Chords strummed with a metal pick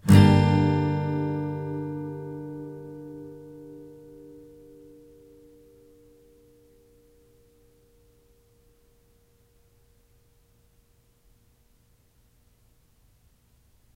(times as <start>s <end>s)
0.0s 9.1s